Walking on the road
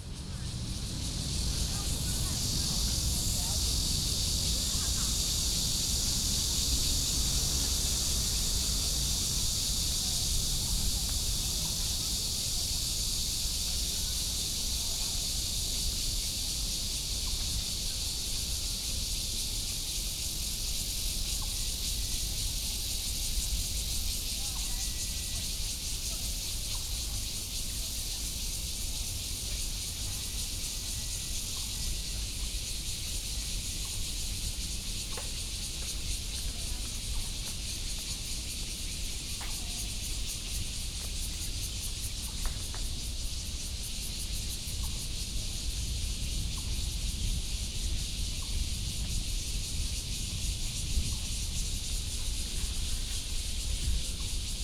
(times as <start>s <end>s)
33.3s 43.2s